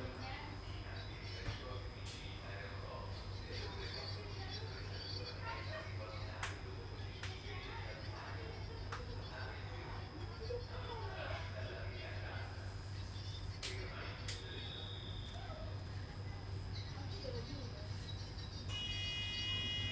people chatting 0:00.0 - 0:18.2

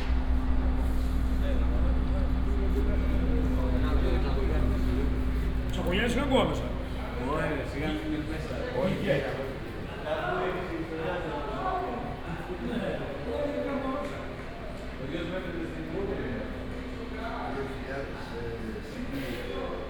station walk 0:00.0 - 0:07.3

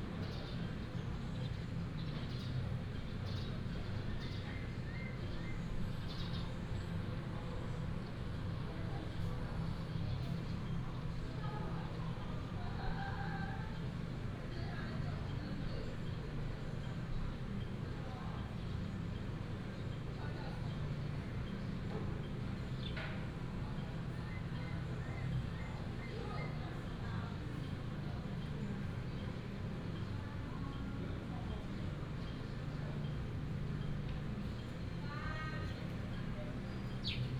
birds 0:00.1 - 0:37.3

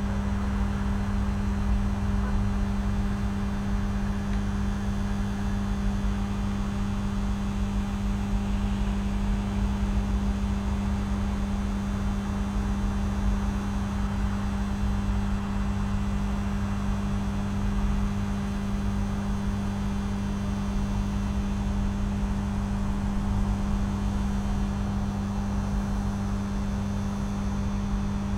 Low buzz of electrical substation transformers 0:00.0 - 0:28.3

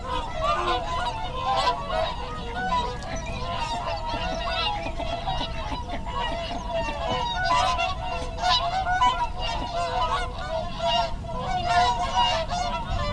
lapwing 0:00.0 - 0:10.4
background noise 0:00.0 - 0:13.1
barnacle geese 0:00.0 - 0:13.1
curlew 0:00.0 - 0:13.1
mute swan 0:00.0 - 0:13.1
mallard 0:00.0 - 0:13.1
wigeon 0:00.0 - 0:13.1

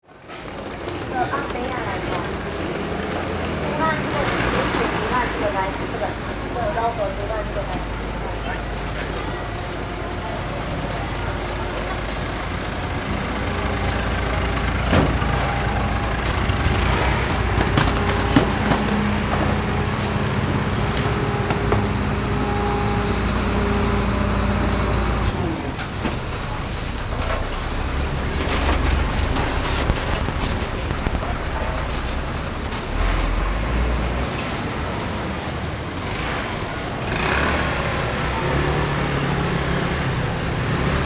garbage truck on arrival 0:00.0 - 0:41.0
Traffic Sound 0:00.1 - 0:41.0

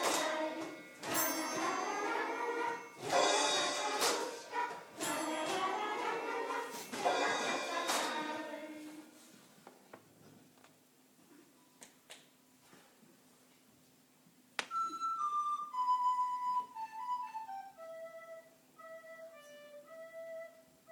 Musikalischer Abend 0:00.0 - 0:09.1
Musikalischer Abend 0:14.7 - 0:20.9

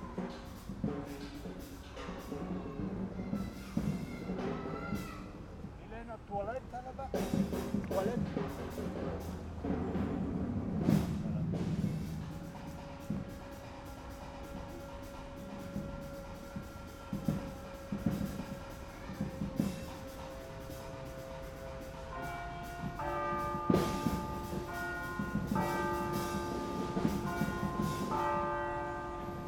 church bells 0:11.9 - 0:29.4

